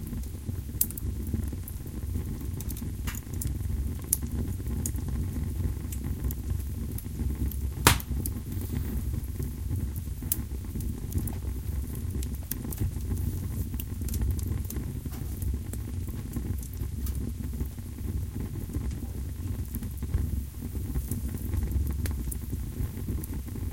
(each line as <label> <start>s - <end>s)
getting wood for fire 7.9s - 8.8s